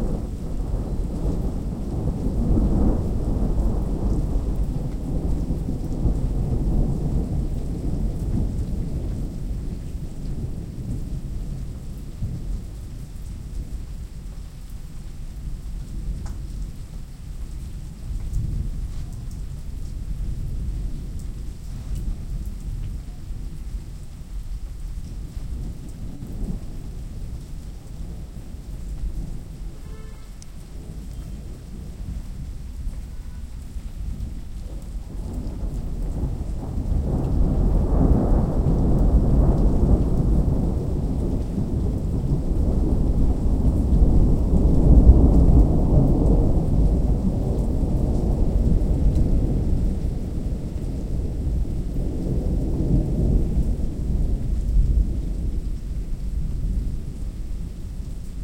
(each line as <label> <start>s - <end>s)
Gentle rain 0.0s - 58.4s
non-stop thunders 25.5s - 57.0s